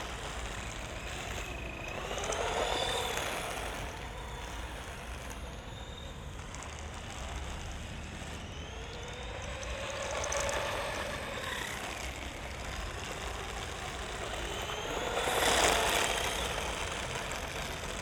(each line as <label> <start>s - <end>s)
remote controlled model car 0.0s - 18.0s